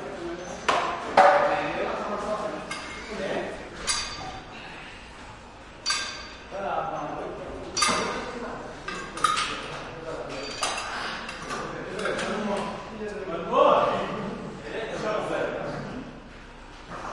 weights clang 0:03.8 - 0:04.5
weights clang 0:05.8 - 0:06.5

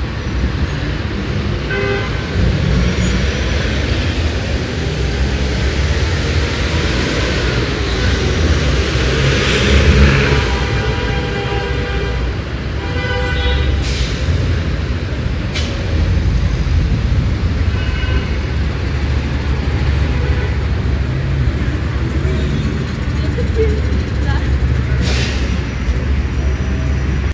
traffic jam 0:00.0 - 0:27.3

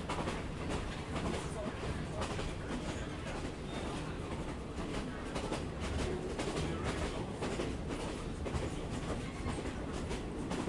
Train 0:00.0 - 0:10.6
rails 0:00.0 - 0:10.6
people 0:00.8 - 0:10.6

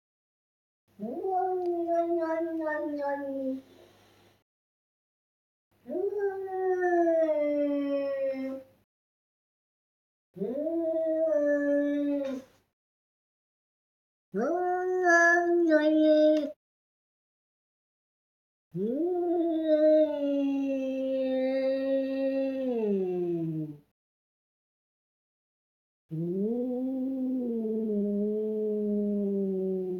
Cat yowling - distant then close-up 0:05.9 - 0:08.7
Cat yowling - distant then close-up 0:10.4 - 0:12.5
Cat yowling - distant then close-up 0:14.4 - 0:16.6

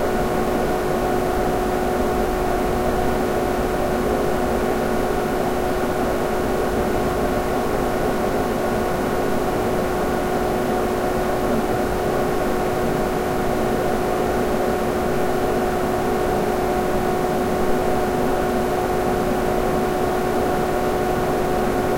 computer fan 0:00.0 - 0:21.9

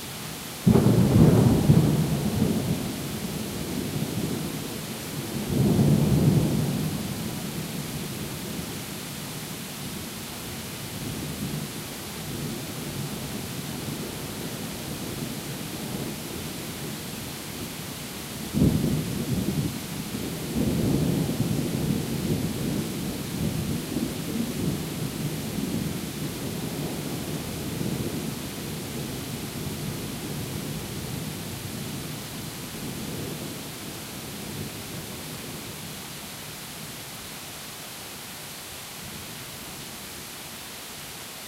Heavy Rain 0:00.0 - 0:41.4
Thunder 0:00.6 - 0:04.6
Thunder 0:18.5 - 0:28.3

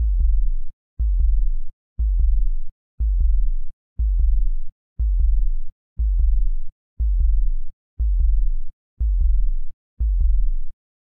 Synthesised Heartbeat consisting of Bass Sweeps 0:00.0 - 0:10.7

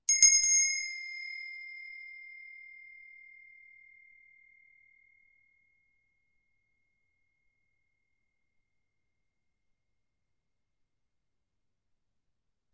small brass bell 0:00.0 - 0:08.6

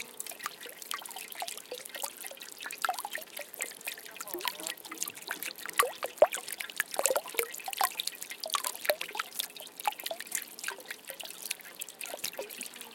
Medium Speed Dropping Water 0:00.0 - 0:12.9

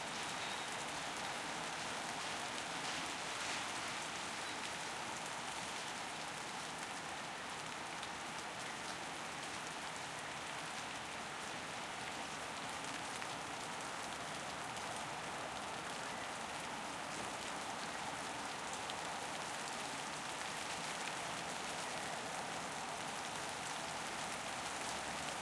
rain 0:00.0 - 0:25.4

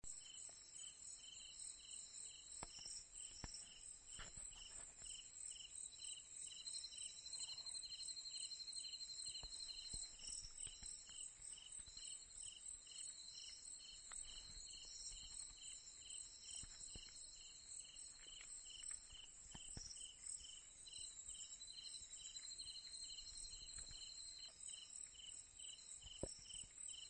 withcricket1 0:00.0 - 0:27.0

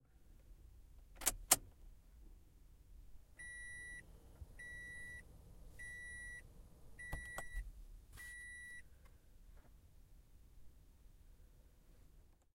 Interior Prius Start 0:03.4 - 0:08.9
beeps 0:04.6 - 0:05.2
beeps 0:05.8 - 0:06.4
beeps 0:07.0 - 0:07.6
beeps 0:08.2 - 0:08.8

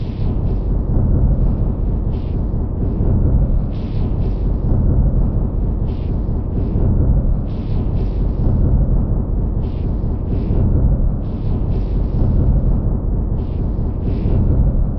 Drum 0:00.0 - 0:14.9

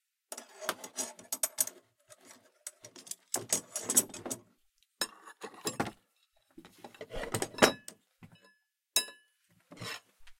going through a toolbox to find the right tool 0:00.3 - 0:07.9

